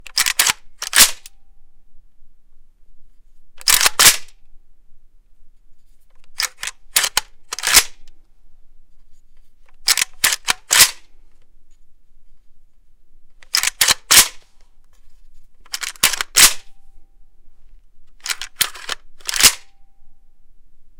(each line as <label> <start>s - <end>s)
kalashnikov 0.0s - 1.3s
reload 0.1s - 1.4s
kalashnikov 3.6s - 4.4s
reload 3.6s - 4.4s
kalashnikov 6.2s - 8.1s
reload 6.3s - 8.1s
kalashnikov 9.8s - 11.1s
reload 9.8s - 11.1s
kalashnikov 13.4s - 14.4s
reload 13.4s - 14.4s
kalashnikov 15.7s - 16.7s
reload 15.7s - 16.8s
kalashnikov 18.2s - 19.8s
reload 18.2s - 19.8s